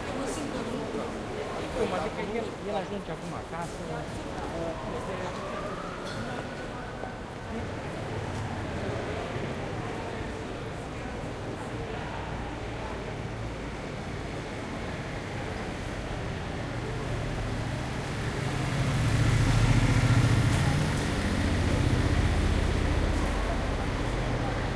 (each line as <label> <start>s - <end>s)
pedestrians 0.0s - 24.7s
car 3.7s - 24.7s